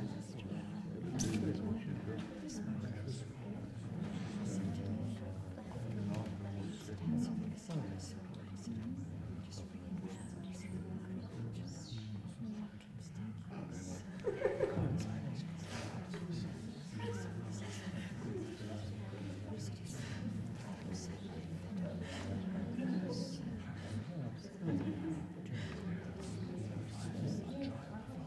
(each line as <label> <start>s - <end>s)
people quietly chatting 0.0s - 28.2s